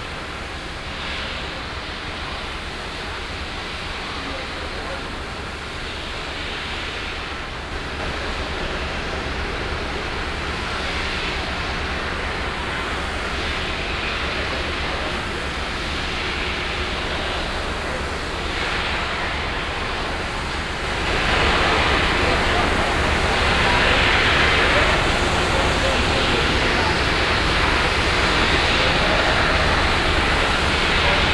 industrial production 0.0 - 31.3

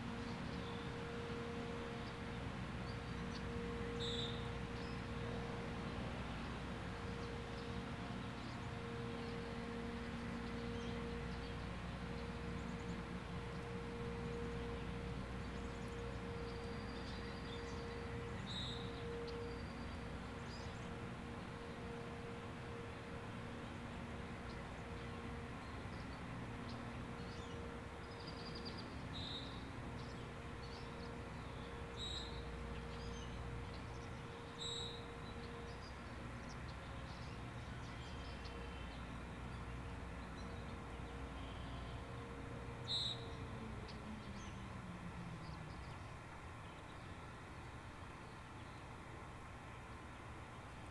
outdoor warning sirens 8.8 - 25.5
outdoor warning sirens 41.2 - 46.5

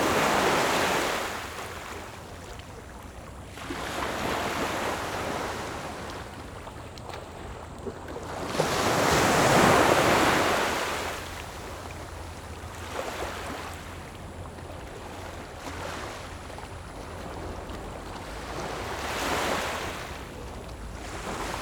waves 0.0 - 21.6

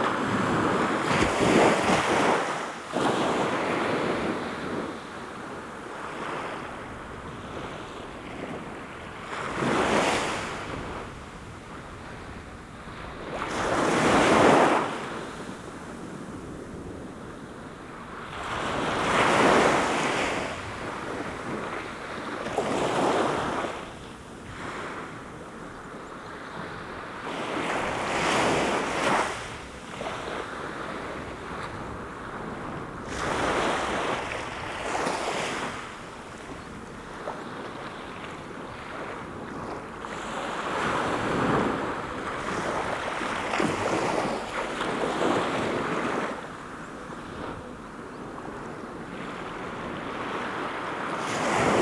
waves washing upon the shore 0.0 - 51.8

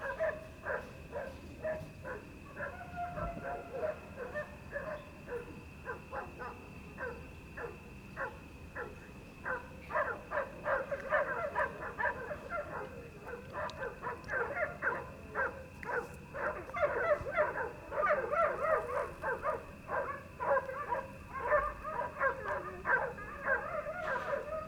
dogs 0.0 - 24.6

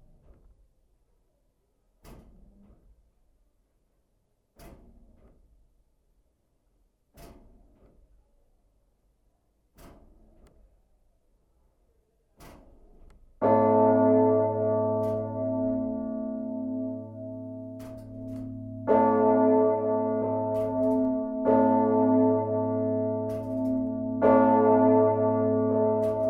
cathedral big bell 13.4 - 26.2

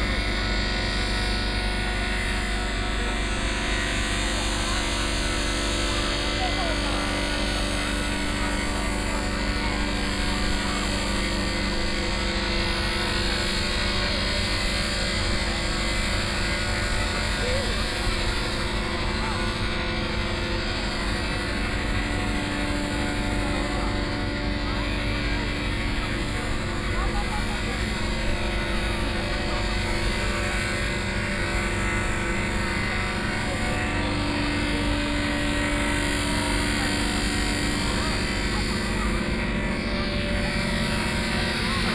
crowd 0.0 - 41.9

